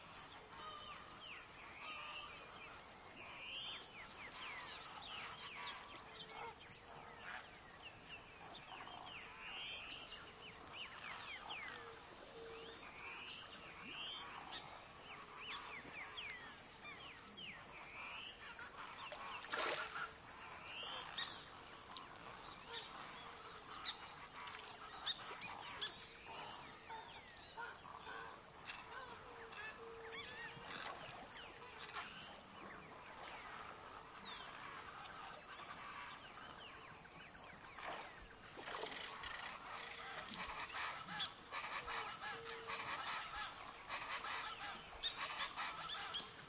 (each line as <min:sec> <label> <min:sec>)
0:00.0 Birds 0:46.4
0:00.0 water 0:46.4